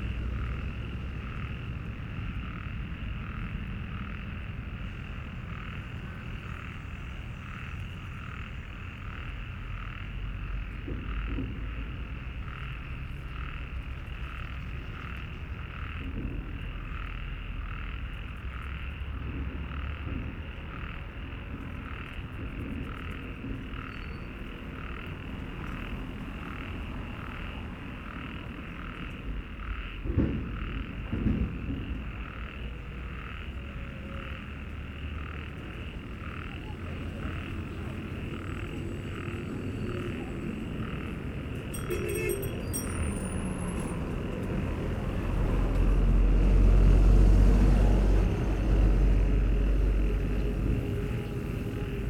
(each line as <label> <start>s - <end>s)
Busy traffic 0.0s - 52.0s
Distant heavy construction work 0.0s - 52.0s
Frogs in a small stream are singing, discontinuously 0.0s - 52.0s
alarm sounds 35.6s - 44.3s